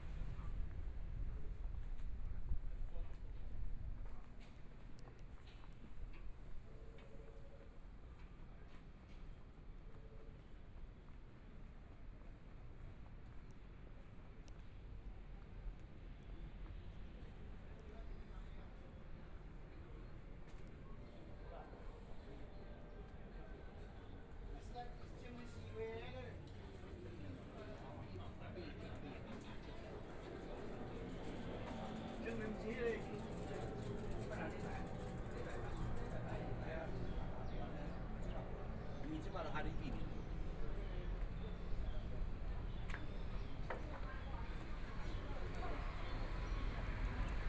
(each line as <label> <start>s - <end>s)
Walking through the small streets 0.0s - 47.4s
Traffic Sound 29.2s - 47.4s